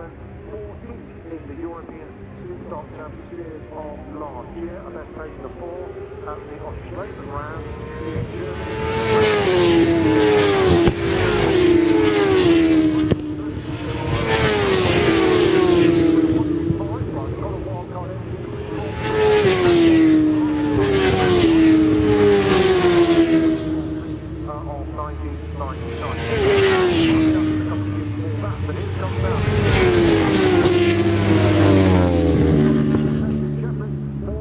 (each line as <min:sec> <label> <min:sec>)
0:00.0 superstock support race 0:34.4